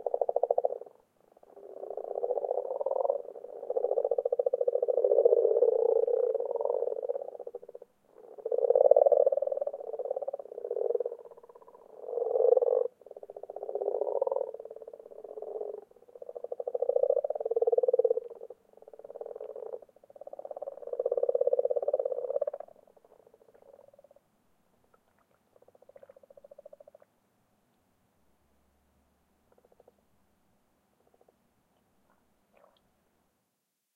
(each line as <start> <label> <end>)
0.0 Frogs Croaking 24.3
24.9 Frogs Croaking 27.1
29.5 Frogs Croaking 30.0
31.0 Frogs Croaking 31.4
32.1 Frogs Croaking 32.8